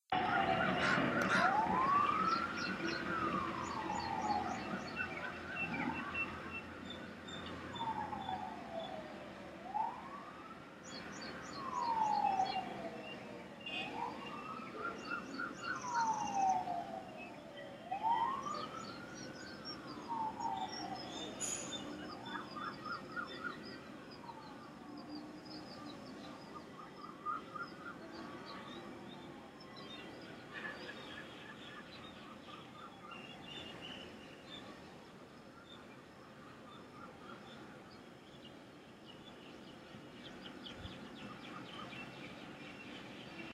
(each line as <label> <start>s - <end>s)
siren 0.1s - 38.0s
sounds of the airport in the distance 0.1s - 43.5s
traffic 0.1s - 43.5s
birds 10.8s - 43.5s